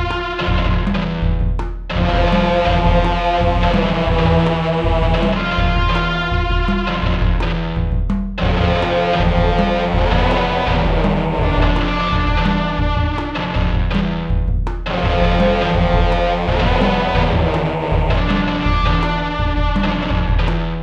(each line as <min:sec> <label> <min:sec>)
0:00.0 guitar 0:20.8
0:00.0 tribal drum loop 0:20.8
0:02.0 choir 0:06.4
0:08.4 choir 0:12.9
0:14.9 choir 0:19.4